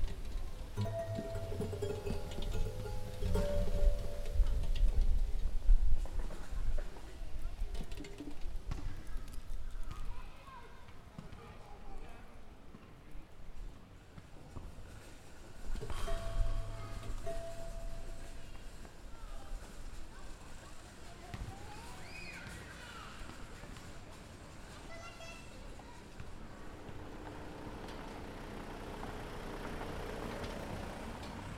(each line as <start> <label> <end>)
0.8 ball that strikes against plates in a rotating disk 5.1